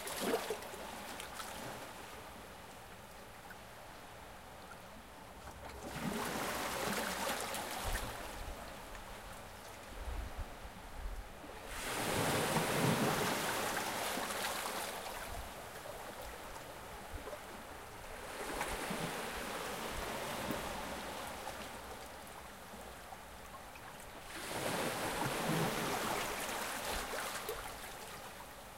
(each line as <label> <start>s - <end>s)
waves hit shore 11.6s - 15.6s
waves hit shore 24.3s - 28.1s